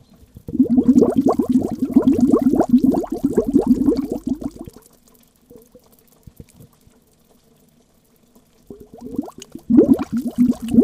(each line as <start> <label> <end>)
0.5 Bubbles of a little underground stream below a rock 4.8
8.7 Bubbles of a little underground stream below a rock 10.8